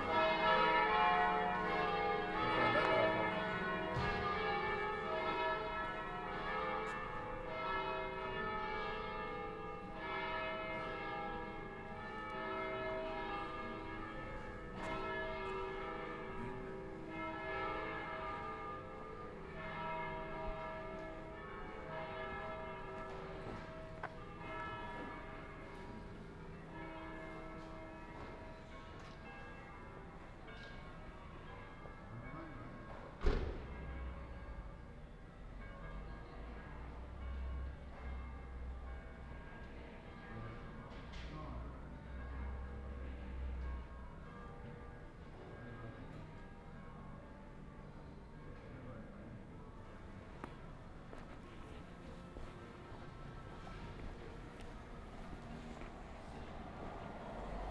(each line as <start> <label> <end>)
0.0 Round Noon bells 32.6
49.8 Round Noon bells 57.7